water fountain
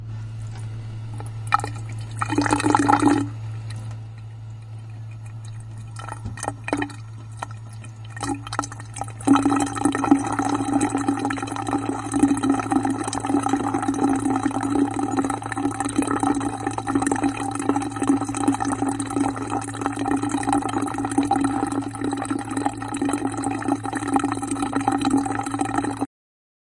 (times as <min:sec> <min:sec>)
0:05.3 0:26.1